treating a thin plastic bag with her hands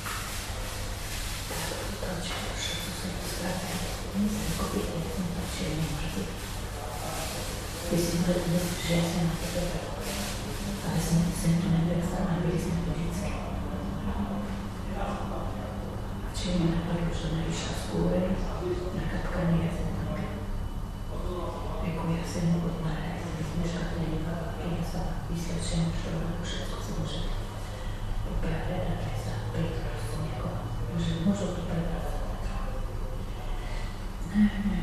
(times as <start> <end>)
0.0 13.2